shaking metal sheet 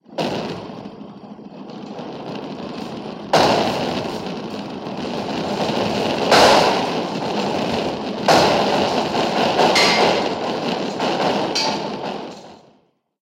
0:02.8 0:12.6

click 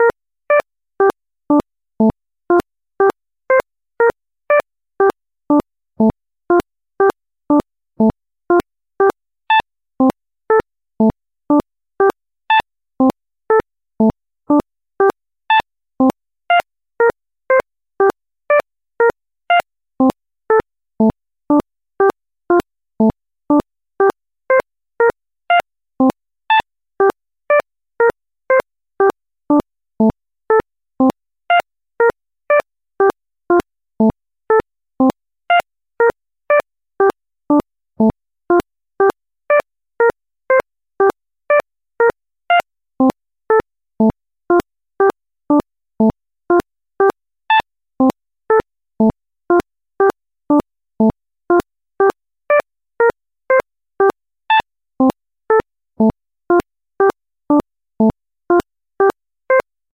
0:46.0 0:50.2, 0:51.0 0:57.2, 0:58.0 0:59.6

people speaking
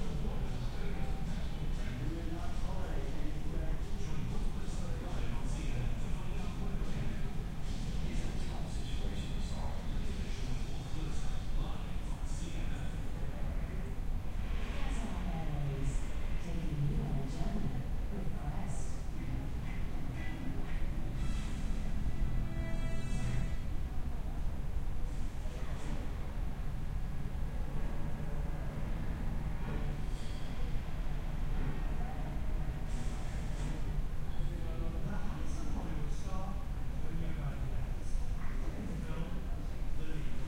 0:00.0 0:14.0, 0:14.7 0:20.8, 0:31.8 0:40.4

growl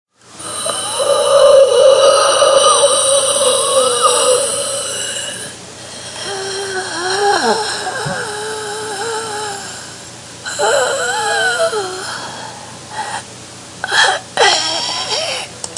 0:00.4 0:09.8

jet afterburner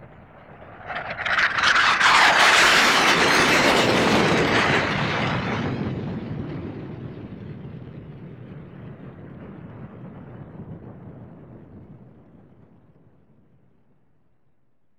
0:00.0 0:05.7

